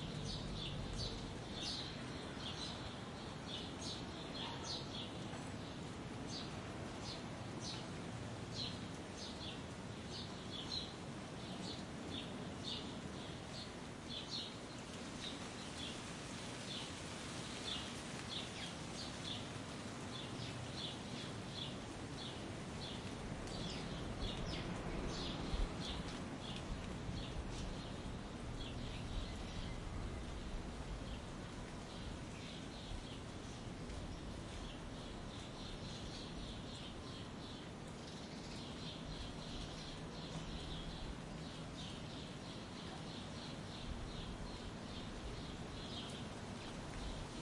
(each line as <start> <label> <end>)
0.0 birds 47.4